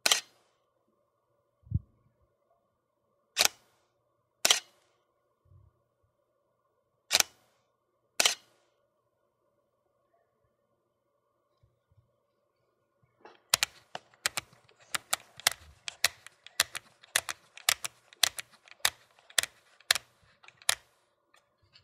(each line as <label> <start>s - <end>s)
DSLR Shutter Dials 3.4s - 3.6s
DSLR Shutter Dials 7.1s - 7.4s
DSLR Shutter Dials 8.2s - 8.5s
DSLR Shutter Dials 13.5s - 21.0s